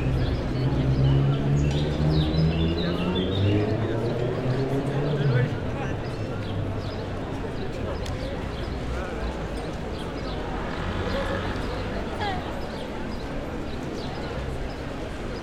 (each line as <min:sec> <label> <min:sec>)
0:00.0 city noise 0:15.4